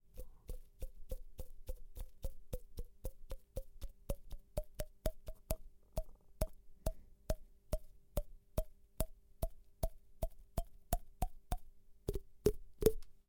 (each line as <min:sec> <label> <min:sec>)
0:00.1 Tapping fingers on cheaks with open mouth 0:13.1